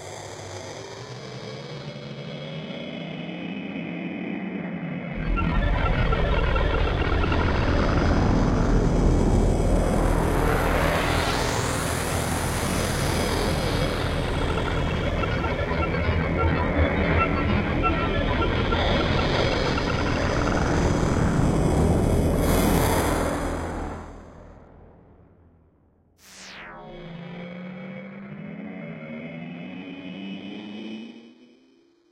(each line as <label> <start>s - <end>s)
synthesizer 3.8s - 25.2s
synthesizer 26.2s - 31.1s